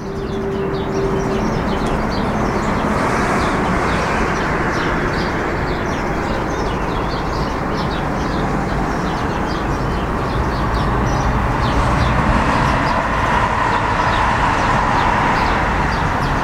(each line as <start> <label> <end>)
0.0 autos 16.4
0.0 straßenbahn 16.4